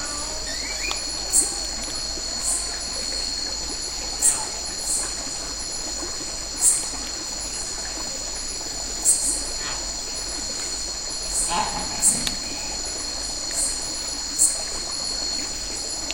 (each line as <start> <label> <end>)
0.0 monkey 3.2
0.0 orangutan 5.3
0.0 cicada 16.1
0.0 crickets 16.1
0.0 small stream 16.1
9.0 orangutan 13.8
11.4 monkey 12.8